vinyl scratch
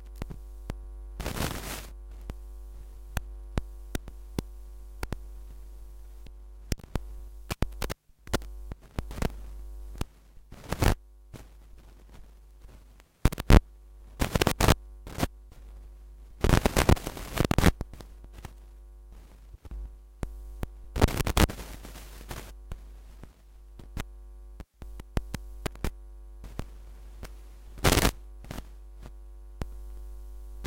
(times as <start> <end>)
1.2 1.9, 16.4 17.8, 27.8 28.6